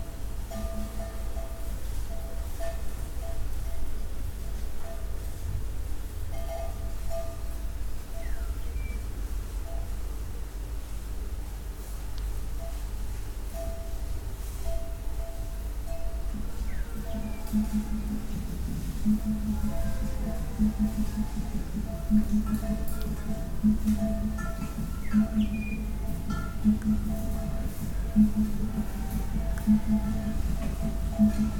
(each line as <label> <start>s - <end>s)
herd of cows wandering through the dry bush 11.6s - 31.5s
drumming from the church 16.2s - 31.5s
singing 16.4s - 31.5s